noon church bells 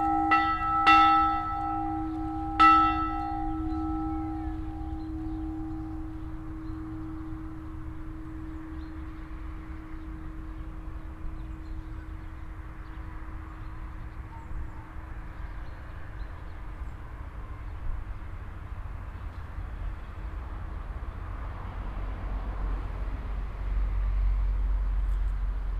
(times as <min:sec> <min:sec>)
0:00.0 0:15.8